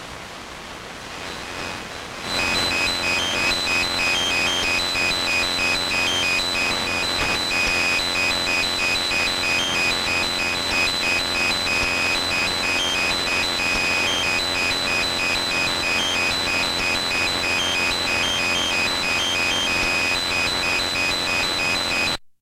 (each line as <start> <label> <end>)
1.1 radio interference 22.2
1.3 extra buzz 22.2
2.3 series of beeps shifting between one of 3 tones 22.2